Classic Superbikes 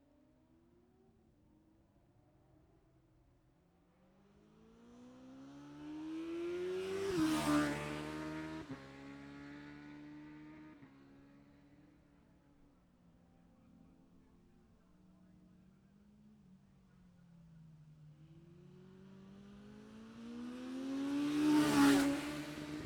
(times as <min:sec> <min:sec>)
0:04.8 0:22.8